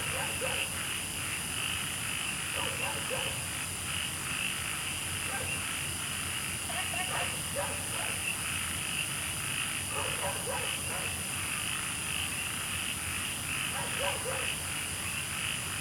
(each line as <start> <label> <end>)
0.0 Insects sounds 15.8
0.0 Dogs barking 0.7
2.6 Dogs barking 3.4
5.3 Dogs barking 5.6
7.1 Dogs barking 8.2
9.9 Dogs barking 11.2
13.7 Dogs barking 14.5